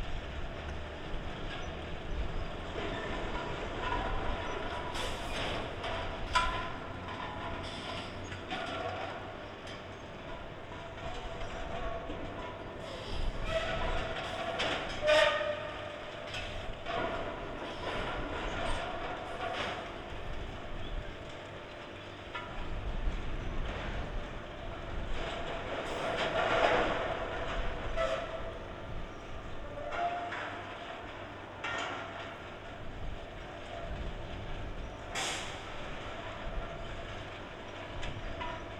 0.0s strong wind 8.6s
0.0s bottling plant at work, from a distance 38.7s
10.2s strong wind 21.3s
22.2s strong wind 30.1s
32.4s strong wind 38.7s

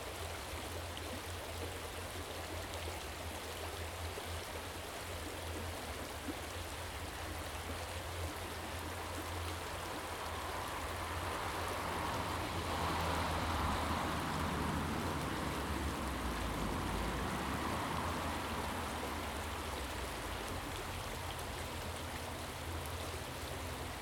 0.0s little water stream running down 24.0s

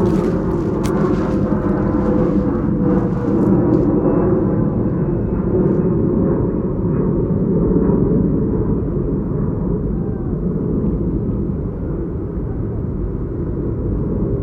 0.0s planes 14.4s

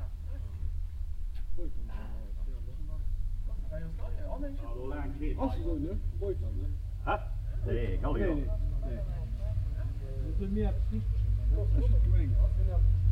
1.3s talk to the owner 13.1s

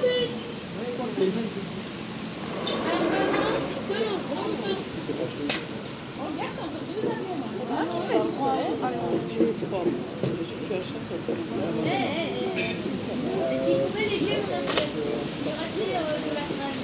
0.0s people are eating in the garden 16.8s

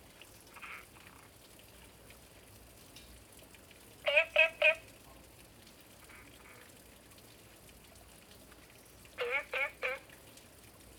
9.2s Frog calls 10.0s

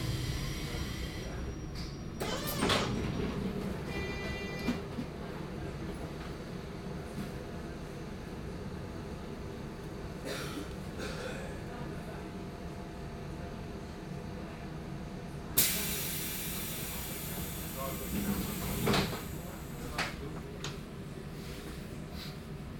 0.0s Train 22.7s
15.6s Voices 20.9s

